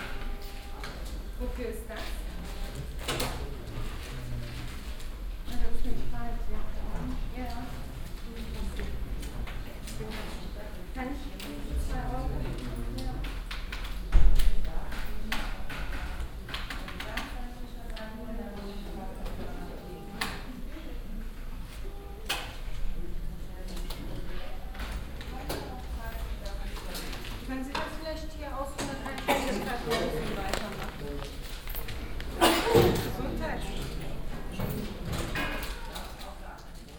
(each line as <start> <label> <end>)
7.6 people standing in a row waiting 36.9